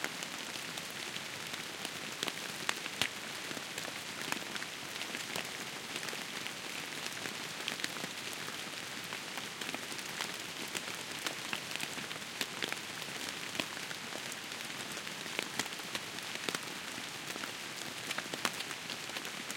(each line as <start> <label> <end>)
0.0 quiet rainfall on leaves 19.5